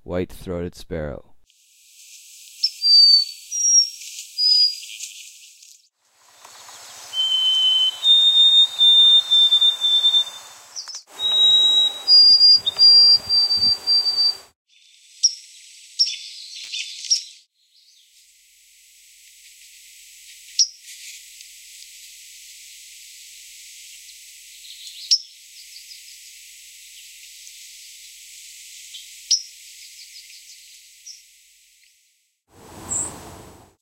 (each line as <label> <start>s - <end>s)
bird song 2.6s - 5.7s
bird song 6.4s - 14.5s
calls 6.4s - 14.5s
bird song 15.2s - 18.1s
bird song 24.0s - 26.2s
bird song 32.8s - 33.4s